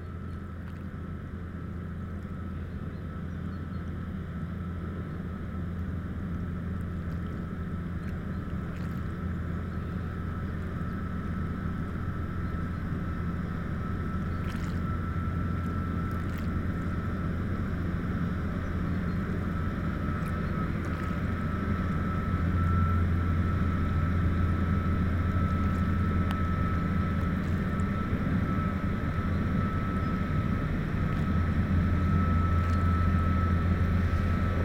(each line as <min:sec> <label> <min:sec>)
0:00.0 Two boats are passing 0:34.6